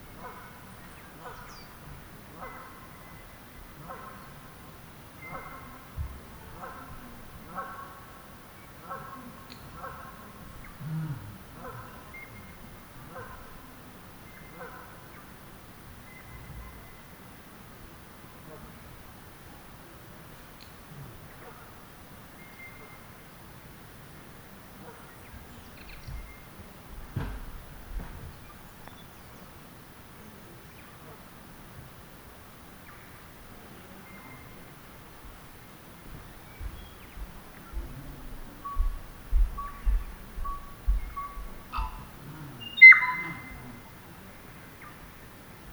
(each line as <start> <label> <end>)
32.8 Birdlife 45.7
36.6 occasional footsteps 42.2